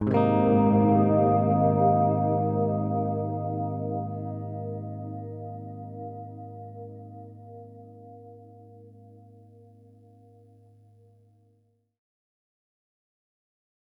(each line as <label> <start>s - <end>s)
chord played on my G4M electric baritone guitar 0.0s - 11.1s